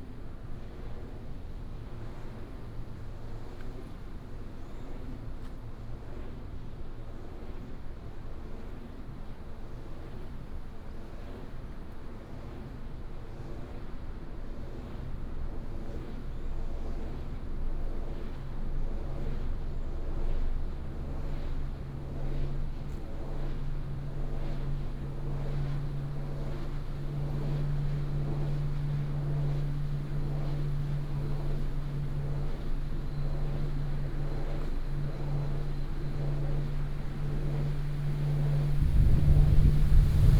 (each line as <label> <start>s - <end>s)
wind 0.0s - 40.3s
Wind Turbines 24.8s - 40.3s